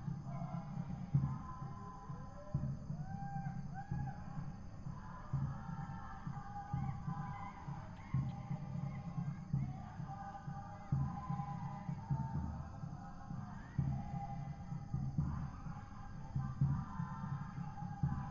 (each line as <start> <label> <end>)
0.0 People singing 18.3